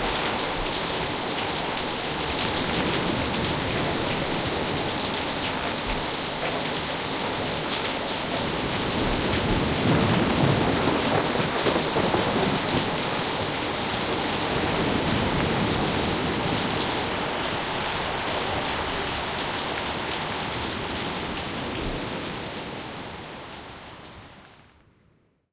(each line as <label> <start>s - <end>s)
thunderclaps 0.0s - 19.4s
waves 0.0s - 24.7s
Wind 0.0s - 25.4s